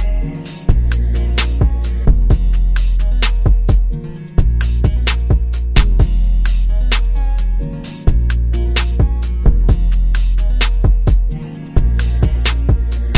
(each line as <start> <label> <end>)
0.0 bass 13.1
0.0 guitar 13.1
1.4 snare 1.7
2.8 snare 3.6
4.7 snare 7.2
8.8 snare 9.1
10.6 snare 10.9
12.0 snare 13.1